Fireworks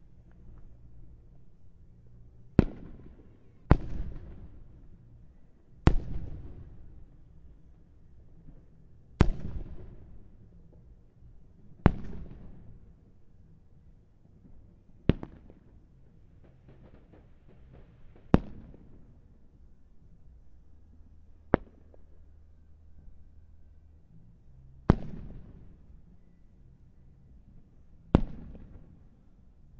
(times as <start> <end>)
2.6 4.7, 5.8 7.0, 11.8 12.8, 14.4 19.4, 21.5 22.2, 24.9 25.9, 28.1 29.2